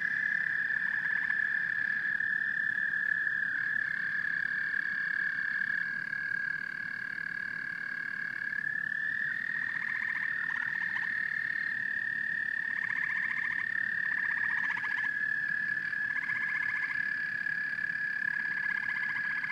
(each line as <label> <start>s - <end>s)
frogs 0.0s - 19.5s
toads keep singing 0.0s - 19.5s